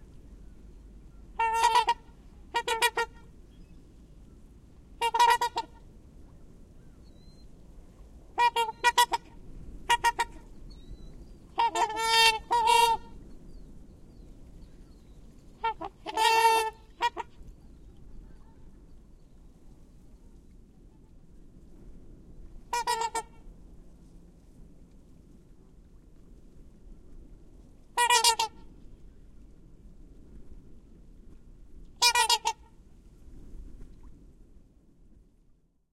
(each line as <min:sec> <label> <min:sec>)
0:01.4 distinctive honking calls 0:03.2